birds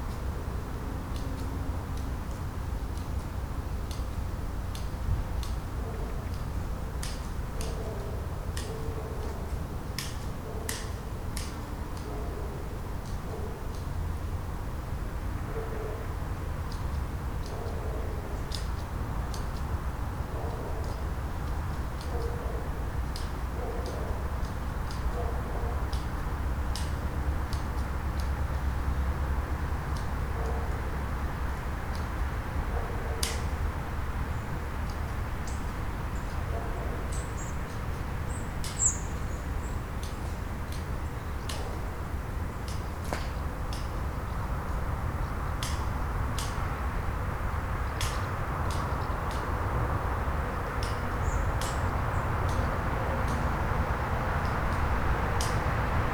35.4s 41.9s, 50.7s 53.7s

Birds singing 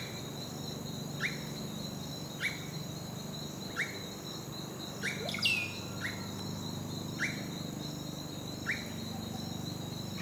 3.6s 10.2s

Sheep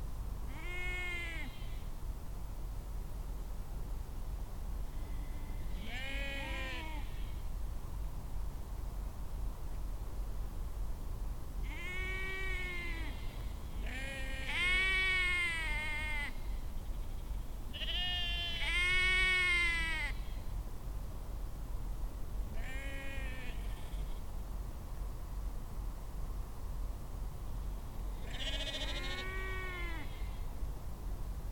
28.2s 30.4s

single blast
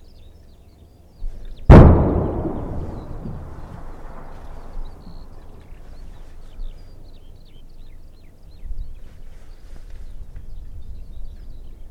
1.7s 5.1s

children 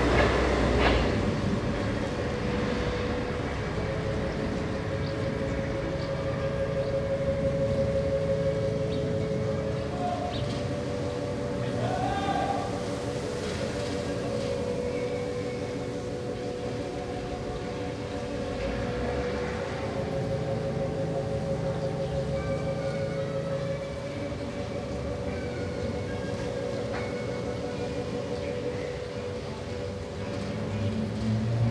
6.7s 31.7s

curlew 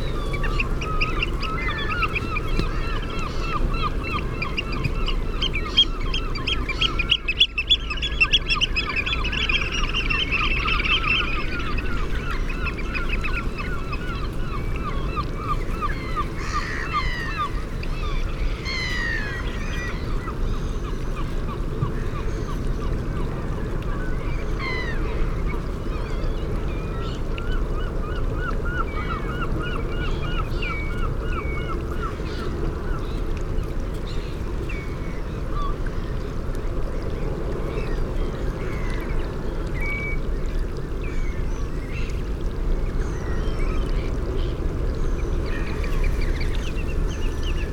0.0s 36.4s

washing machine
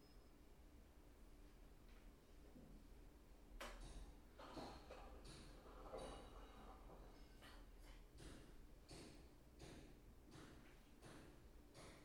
3.6s 8.7s

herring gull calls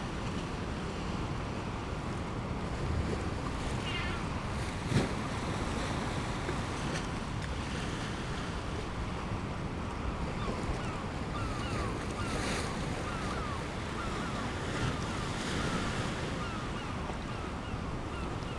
3.8s 4.4s

